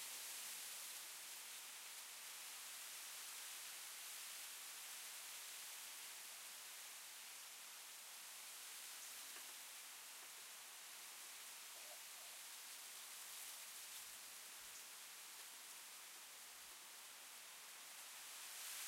Wind Blowing Leaves in Tree 0.0 - 18.8

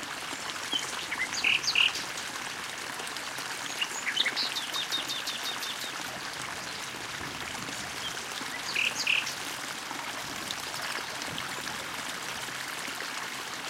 stream 0.0 - 13.6
bird calls in background 8.0 - 9.4

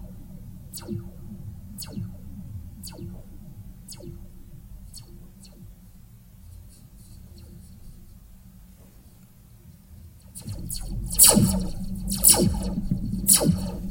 Laser Shots 0.8 - 3.3
Laser Shots 10.4 - 13.9

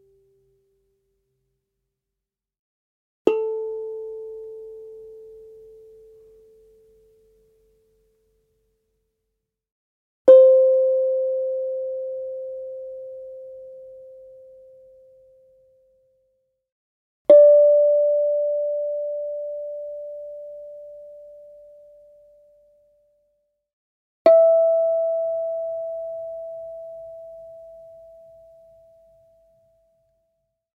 Steel tongue drum 3.3 - 7.9
Steel tongue drum 10.3 - 15.3
Steel tongue drum 17.3 - 22.5
Steel tongue drum 24.3 - 29.8

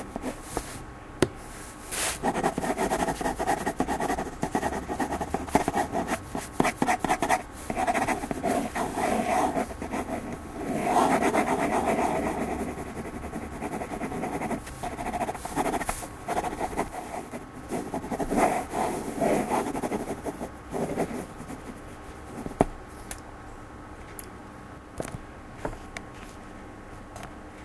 pen 2.2 - 17.1

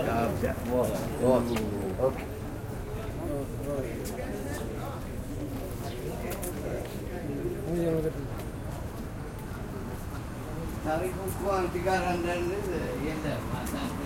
sidewalk conversations 0.0 - 14.0
traffic noise 0.0 - 14.0

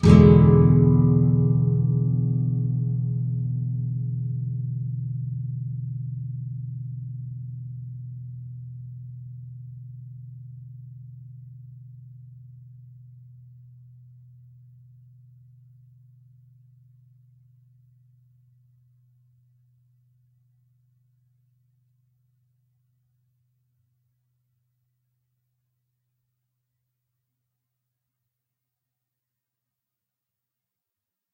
nylon guitar 0.0 - 15.0

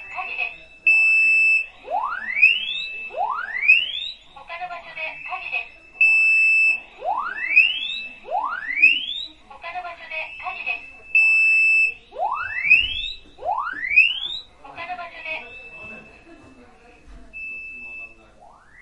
fire alarm syetem 0.0 - 18.8

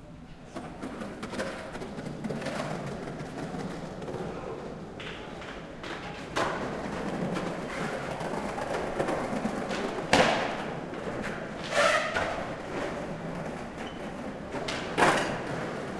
Skaters practising 0.0 - 15.9

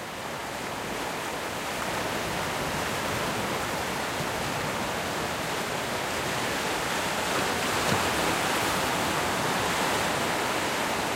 wind 0.0 - 11.1
ocean waves breaking through rocks 0.1 - 11.1

